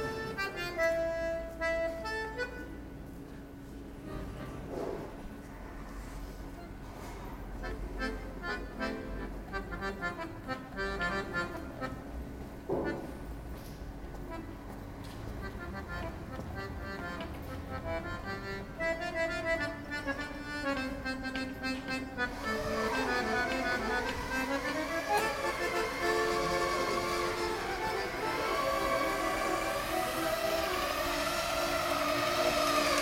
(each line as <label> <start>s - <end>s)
accordeon player 0.0s - 3.3s
accordeon player 7.6s - 13.3s
accordeon player 14.1s - 33.0s
building site 21.1s - 33.0s